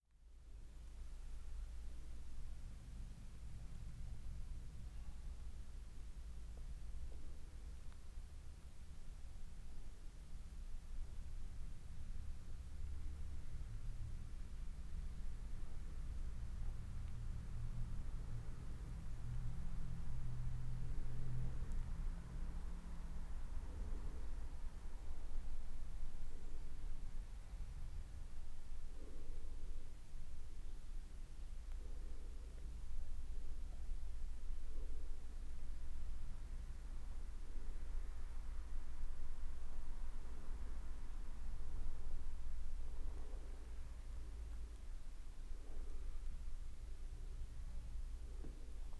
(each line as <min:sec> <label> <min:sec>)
0:12.5 noises from the street coming through the door 0:25.9